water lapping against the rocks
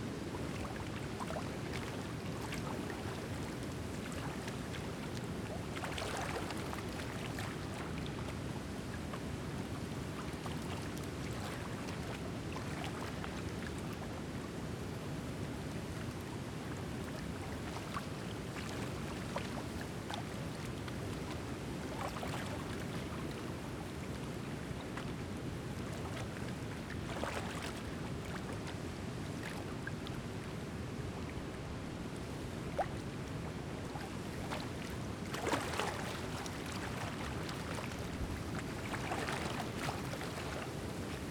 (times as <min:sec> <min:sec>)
0:00.5 0:08.2, 0:17.4 0:41.3